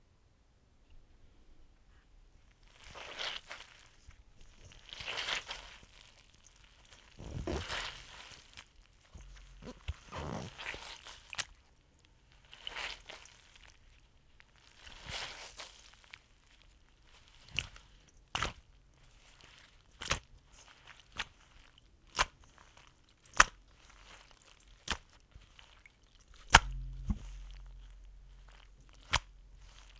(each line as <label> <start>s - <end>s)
Wet Rag in Bowl 4.6s - 8.6s
Wet Rag in Bowl 9.2s - 11.6s
Wet Rag in Bowl 22.2s - 29.9s